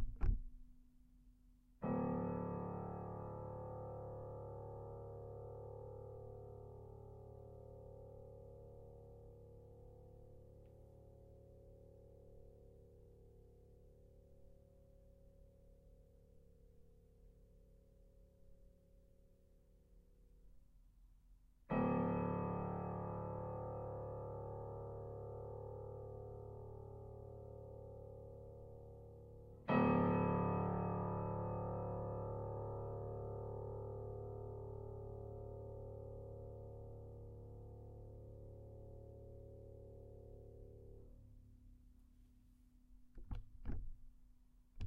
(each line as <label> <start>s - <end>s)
piano 0.0s - 0.7s
piano 1.8s - 12.2s
piano 21.6s - 41.3s